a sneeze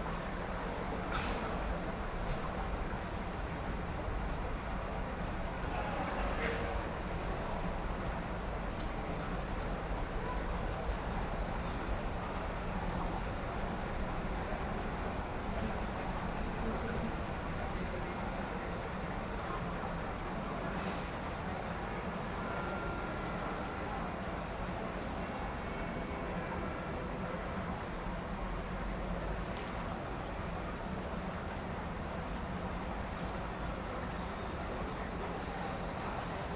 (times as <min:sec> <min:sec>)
0:01.1 0:01.6, 0:06.4 0:06.8, 0:20.8 0:21.1